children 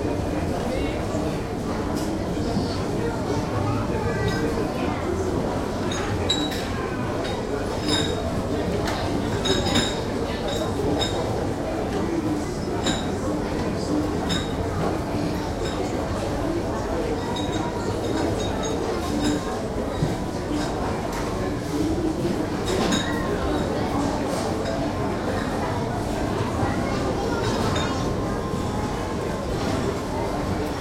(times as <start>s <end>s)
2.0s 7.6s, 22.6s 30.8s